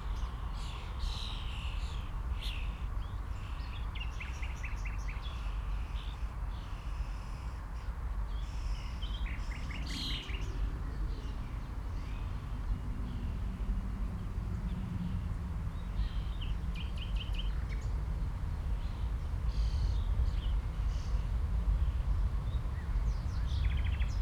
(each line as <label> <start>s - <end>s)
wind 0.0s - 24.2s